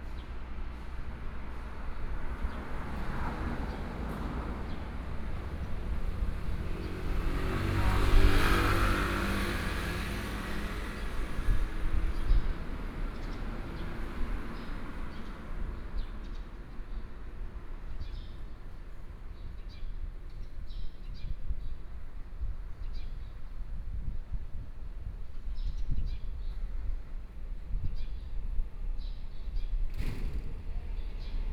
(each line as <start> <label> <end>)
0.0 Traffic Sound 20.2
9.8 Birdsong sound 23.7
27.8 Birdsong sound 31.5